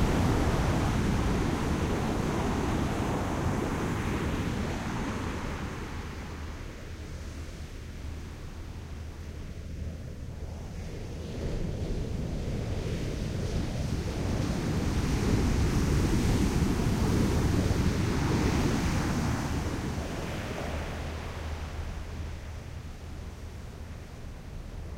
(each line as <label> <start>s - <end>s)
waves on sand 0.0s - 6.6s
waves on sand 14.4s - 22.6s